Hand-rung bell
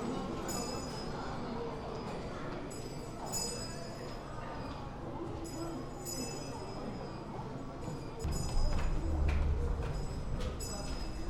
2.8s 4.2s, 5.4s 11.2s

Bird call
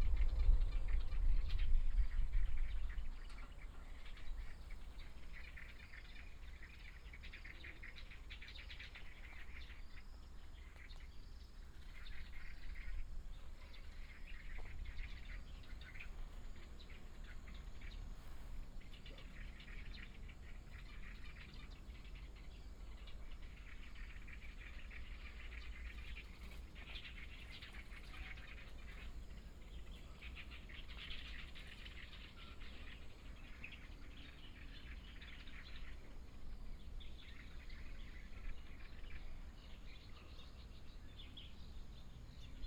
3.3s 36.4s

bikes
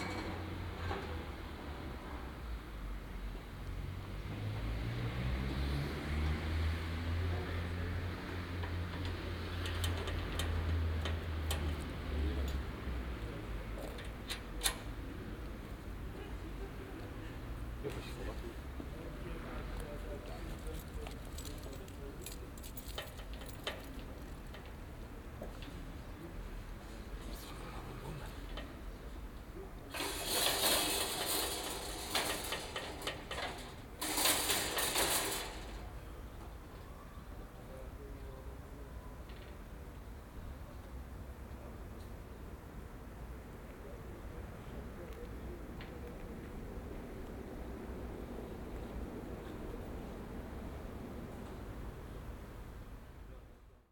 25.4s 36.9s

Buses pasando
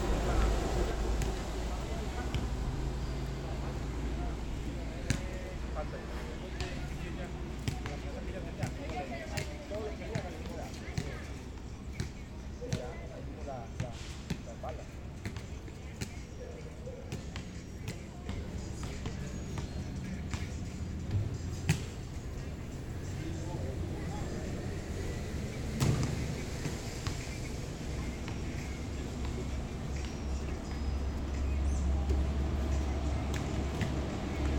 0.0s 4.8s

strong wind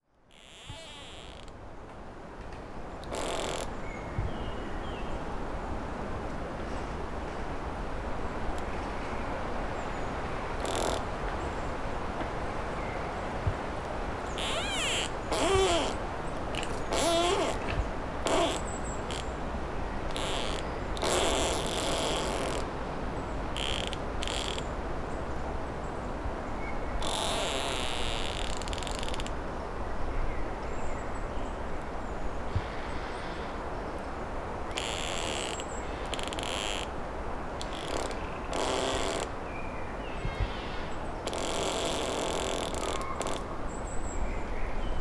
39.3s 41.3s

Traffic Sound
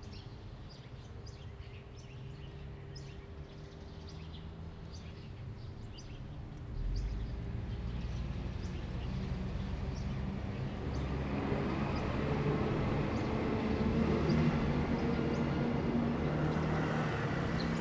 10.2s 17.8s

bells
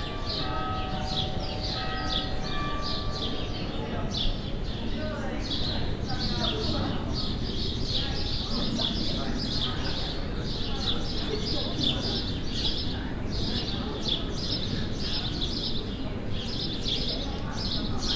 0.0s 6.0s

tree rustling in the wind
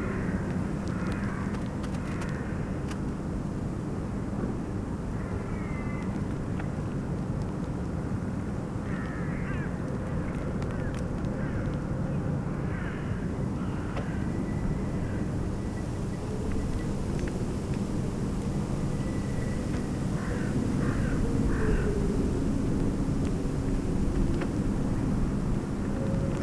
13.2s 26.4s

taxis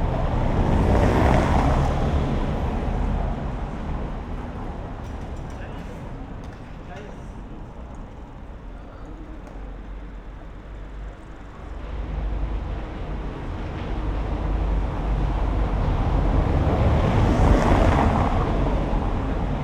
0.0s 15.2s

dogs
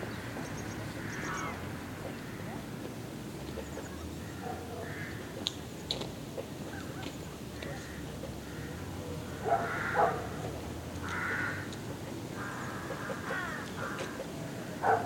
4.4s 4.9s, 9.4s 10.3s, 14.8s 15.0s

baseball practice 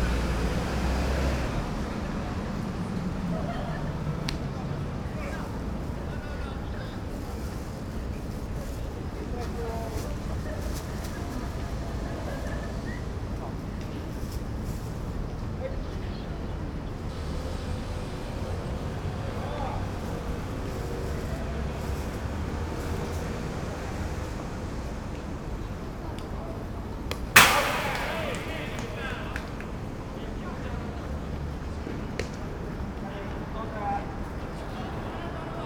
27.0s 29.8s

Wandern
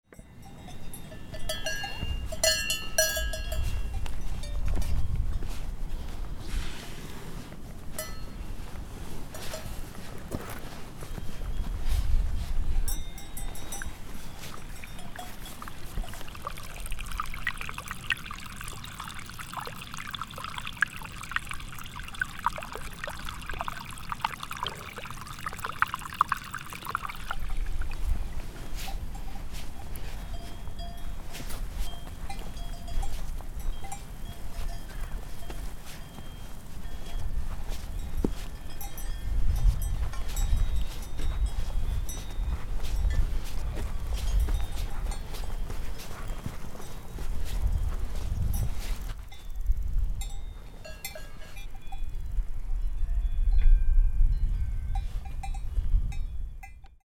12.9s 47.7s

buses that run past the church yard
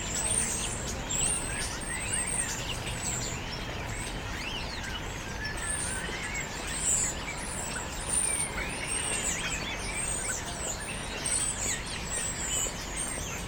0.0s 7.7s

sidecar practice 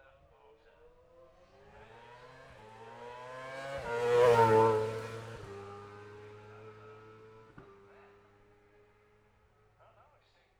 1.4s 9.1s

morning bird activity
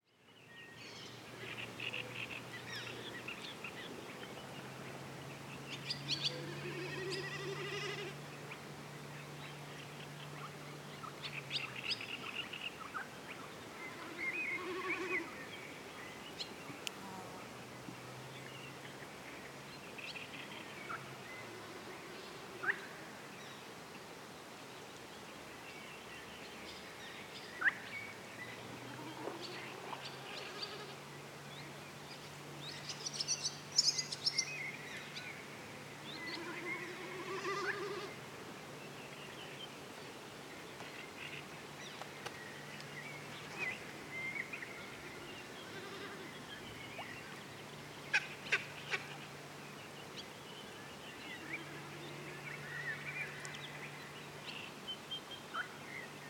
23.4s 56.2s

